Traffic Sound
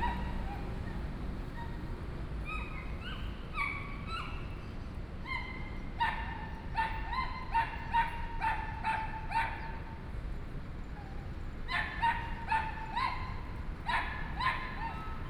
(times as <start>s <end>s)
0.0s 4.1s